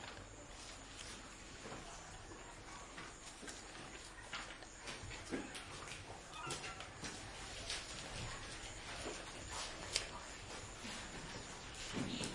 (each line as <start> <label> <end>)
0.0 people studying paper noise whispering 12.3